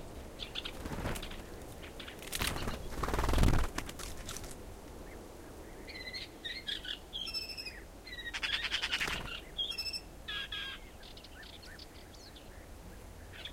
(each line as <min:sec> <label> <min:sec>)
0:00.0 wind on trees 0:13.5
0:00.6 fluttering 0:01.6
0:00.8 noise of feet on branches 0:04.6
0:02.2 fluttering 0:04.6
0:05.0 Bee-eater calls in background 0:13.5